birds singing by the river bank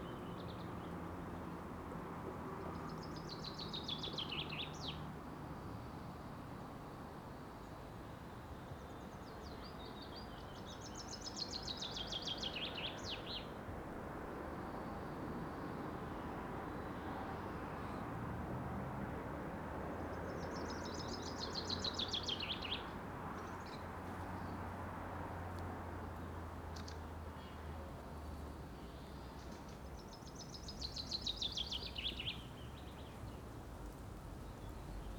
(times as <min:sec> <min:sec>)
0:08.6 0:13.6, 0:20.0 0:24.8, 0:26.1 0:33.6